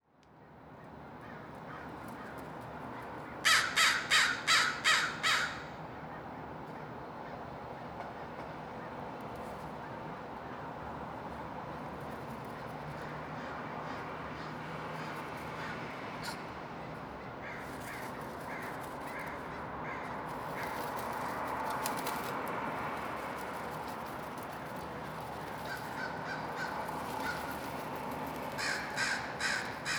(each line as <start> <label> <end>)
0.2 traffic 29.9
1.2 caw 7.4
13.0 caw 16.4
17.4 caw 21.4
25.5 caw 27.9
28.5 caw 29.9